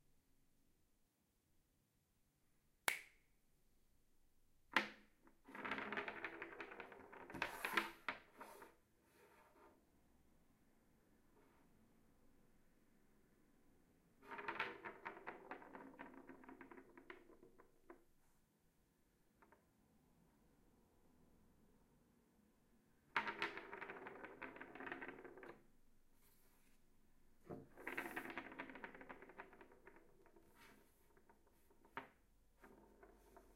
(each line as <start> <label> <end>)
5.4 AA batteries rolling on a wooden desk 9.7
14.2 AA batteries rolling on a wooden desk 18.0
23.1 AA batteries rolling on a wooden desk 25.7
27.4 AA batteries rolling on a wooden desk 33.5